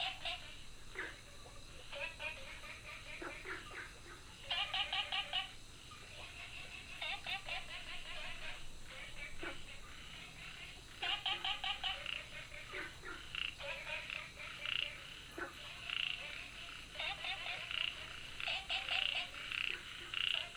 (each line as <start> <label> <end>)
0.0 Frogs chirping 20.5